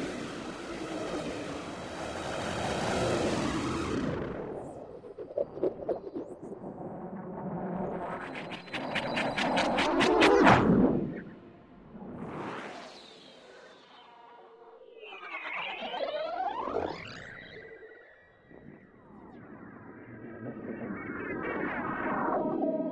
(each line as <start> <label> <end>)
0.0 drone 4.8